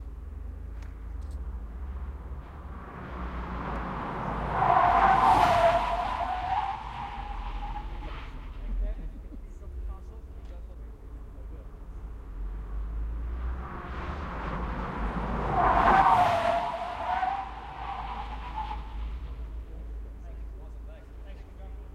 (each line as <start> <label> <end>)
1.2 VW Golf GTI making an high speed emergency stop 8.8
11.6 VW Golf GTI making an high speed emergency stop 20.6